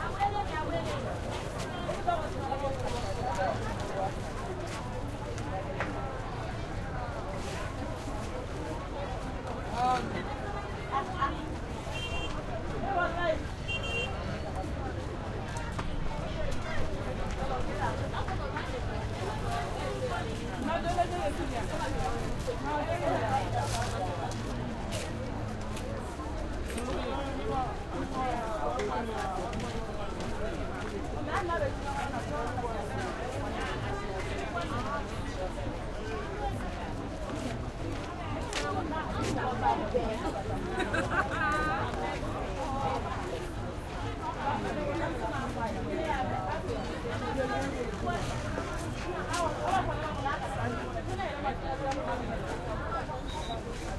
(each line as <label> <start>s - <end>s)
voices 0.0s - 53.9s